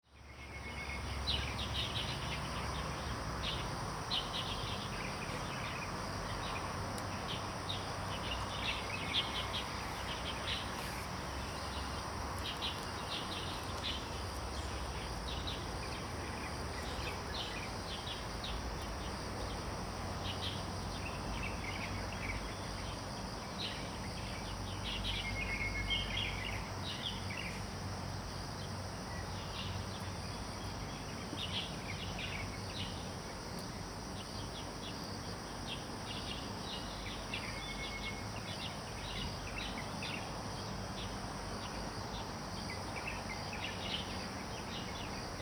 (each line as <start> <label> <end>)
0.2 Birds singing 19.6